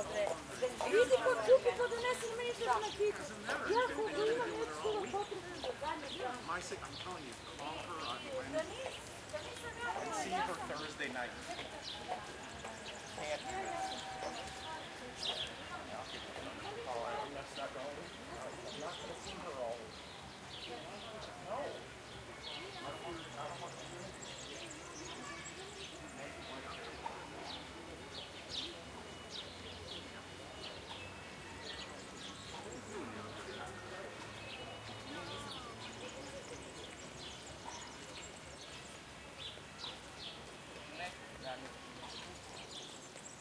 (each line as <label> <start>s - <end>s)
people talking 0.0s - 19.9s
birds singing 0.0s - 43.4s
walking by 0.0s - 43.4s
people talking 20.7s - 38.1s